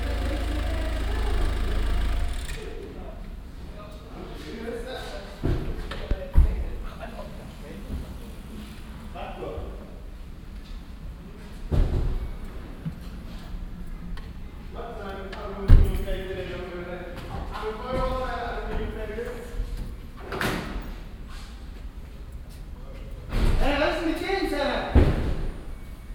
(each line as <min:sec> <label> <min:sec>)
0:02.6 männerkonversationen 0:10.0
0:14.7 männerkonversationen 0:19.9
0:22.8 männerkonversationen 0:25.0